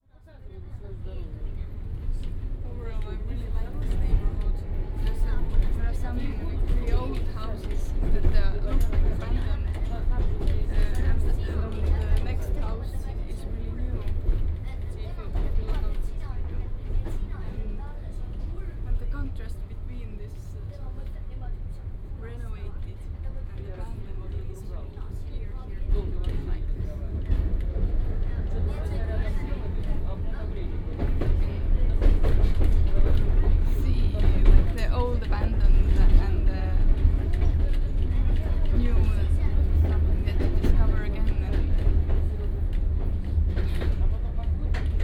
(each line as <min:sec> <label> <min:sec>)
0:00.0 tram 0:45.0